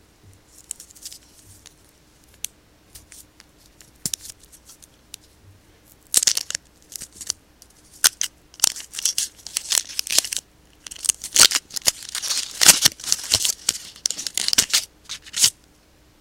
Opening up some candy from the wrapper 0:06.1 - 0:15.6

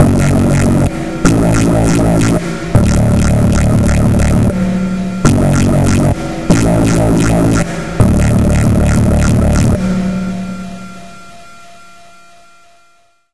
Dark step synth 0:00.0 - 0:11.1

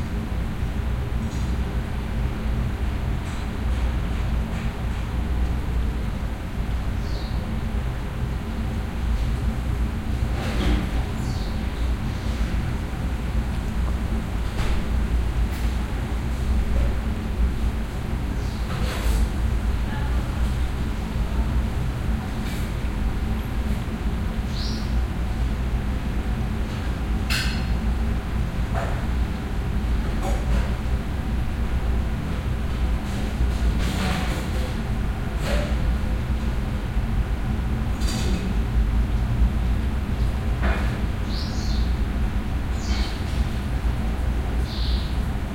hum from a ventilator 0:00.0 - 0:45.5
bird calls 0:07.0 - 0:07.4
bird calls 0:24.5 - 0:25.0
people prepairing and eating food above 0:24.8 - 0:37.0
bird calls 0:41.2 - 0:41.9
bird calls 0:44.6 - 0:45.2

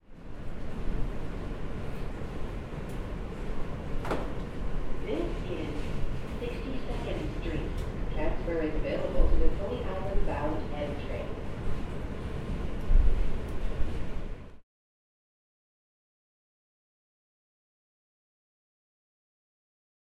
Subway train, in transit 0:00.0 - 0:14.6
PA voice 0:05.1 - 0:05.8
PA voice 0:06.4 - 0:11.4

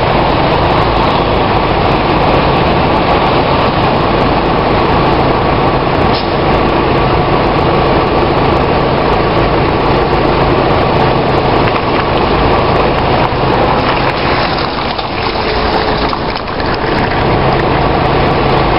Buses 0:00.0 - 0:18.7
Lorries 0:00.0 - 0:18.7
Trains 0:00.0 - 0:18.7
heavy traffic driving past my car 0:00.0 - 0:18.7

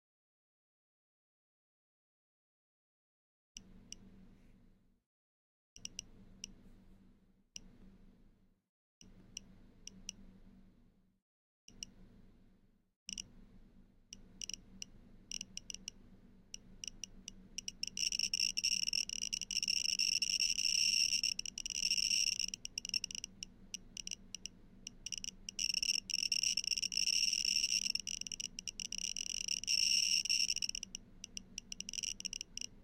Geiger counter ticks erratically 0:13.1 - 0:13.3
Geiger counter ticks erratically 0:14.2 - 0:32.8

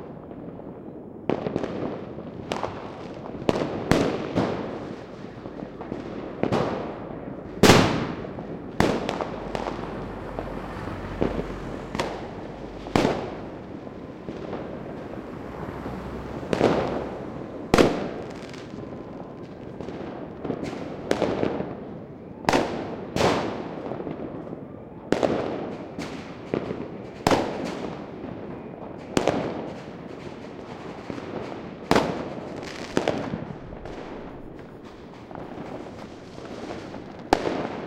fireworks 0:00.0 - 0:37.8

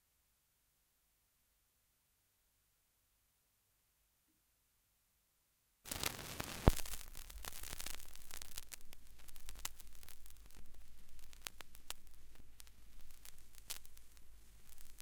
needle hitting the surface of a vinyl record 0:05.9 - 0:15.0

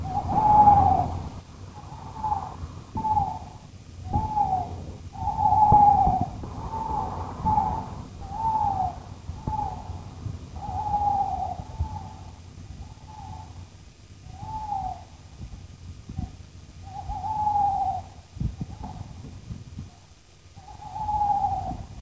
An owl 0:00.0 - 0:22.0

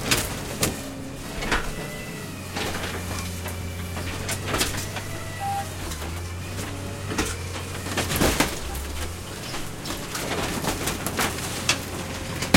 school bus truck destroy crush smash 0:00.0 - 0:12.5

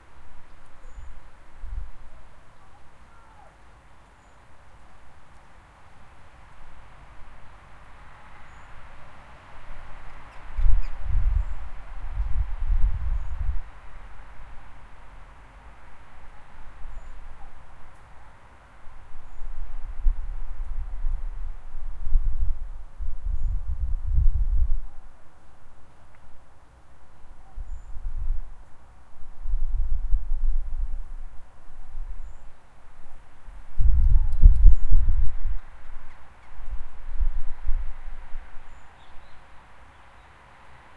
bird song 0:00.0 - 0:05.5
traffic noise 0:00.0 - 0:23.0
wind 0:00.0 - 0:40.9
bird song 0:08.1 - 0:08.9
bird song 0:10.0 - 0:13.7
bird song 0:16.3 - 0:18.5
bird song 0:19.1 - 0:19.9
bird song 0:23.2 - 0:23.8
bird song 0:27.2 - 0:28.2
bird song 0:32.1 - 0:32.7
bird song 0:34.0 - 0:37.4
traffic noise 0:35.0 - 0:40.9
bird song 0:38.5 - 0:40.5

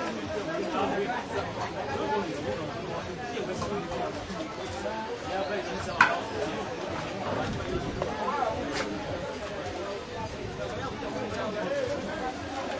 faint music 0:00.0 - 0:12.7

